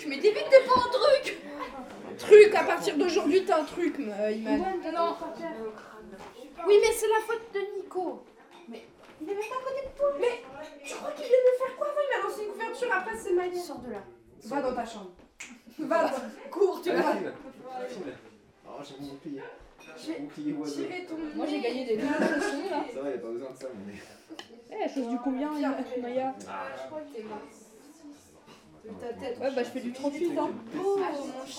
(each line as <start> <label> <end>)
0.0 Children playing 14.1
27.1 Children playing 31.5